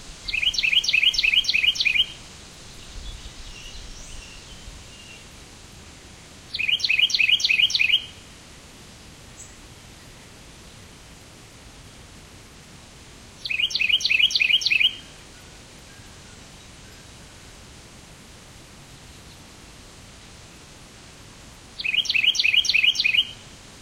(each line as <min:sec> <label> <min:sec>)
0:00.2 Carolina Wren chirping 0:05.3
0:06.5 Carolina Wren chirping 0:08.2
0:13.4 Carolina Wren chirping 0:17.1
0:21.8 Carolina Wren chirping 0:23.5